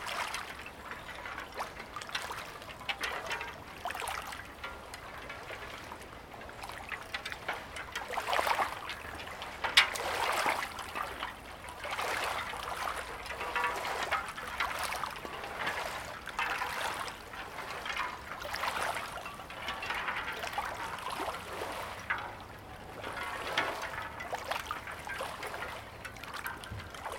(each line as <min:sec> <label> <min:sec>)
0:12.2 ice sheets jingling and clanking 0:27.1